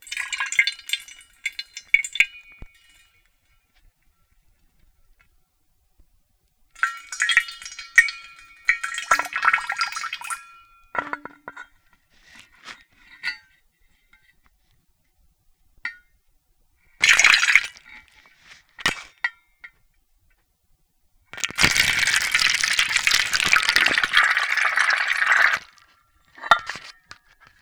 6.8s water droplets 11.1s

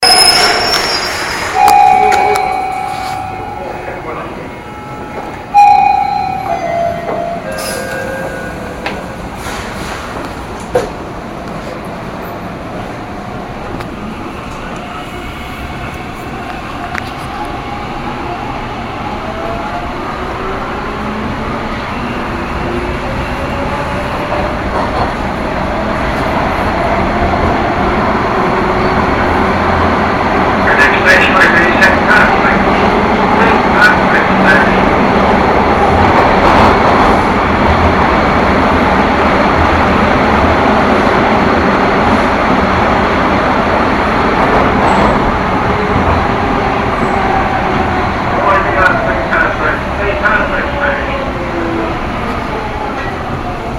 0.0s subway chimes 9.4s
0.0s Subway car stops and starts 53.7s
0.0s Station announcements 9.4s
11.1s Station announcements 53.7s
43.0s subway chimes 51.8s

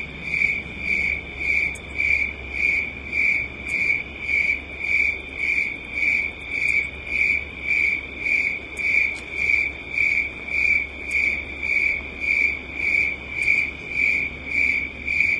0.0s crickets 15.3s

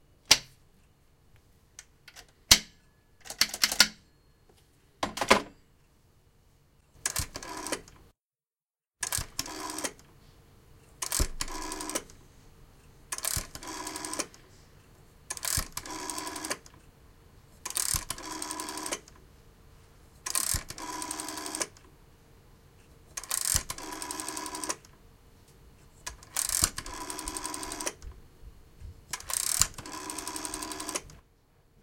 3.2s Telephone Dialing 4.0s
7.0s Telephone Dialing 7.9s
9.0s Telephone Dialing 10.0s
11.0s Telephone Dialing 12.1s
13.2s Telephone Dialing 14.4s
15.3s Telephone Dialing 16.7s
17.7s Telephone Dialing 19.2s
20.3s Telephone Dialing 21.8s
23.2s Telephone Dialing 24.9s
26.1s Telephone Dialing 28.0s
29.2s Telephone Dialing 31.2s

